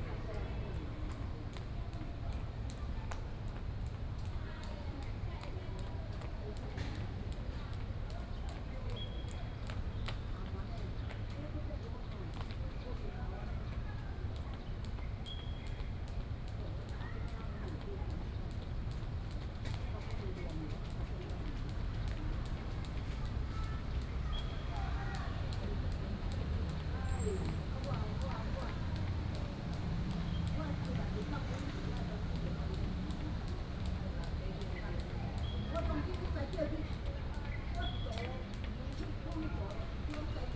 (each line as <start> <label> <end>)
27.5 Rope skipping 40.5